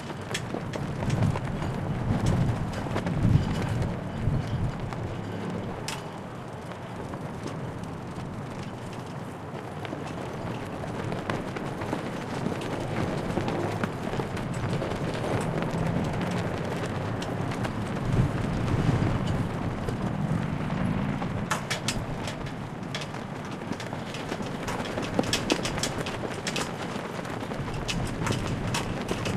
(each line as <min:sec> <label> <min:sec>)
0:00.0 gusts of wind are rattling the flagpoles 0:29.3